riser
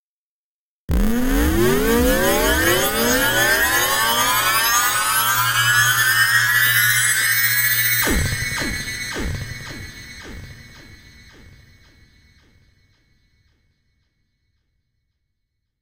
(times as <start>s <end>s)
0.9s 10.7s